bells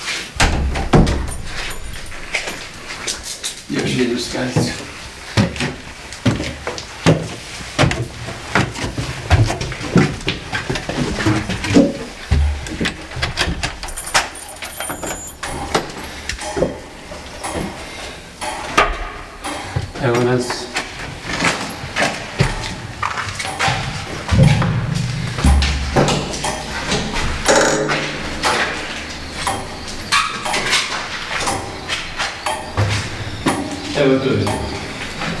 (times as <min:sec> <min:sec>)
0:00.4 0:05.0, 0:13.6 0:18.8, 0:19.6 0:35.4